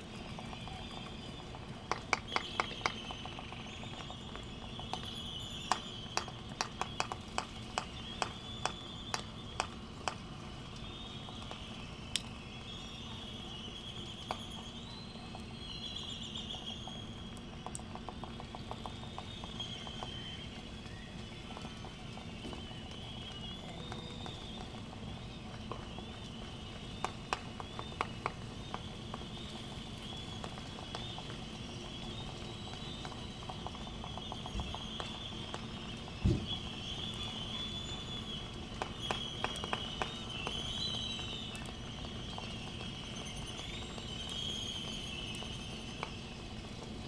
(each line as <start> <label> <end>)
0.1 laysan albatross clappering bills 4.2